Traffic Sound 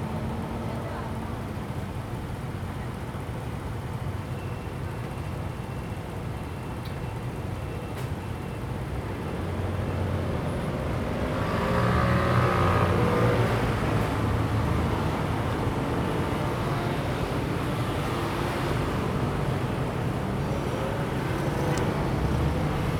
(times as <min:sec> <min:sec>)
0:08.8 0:22.9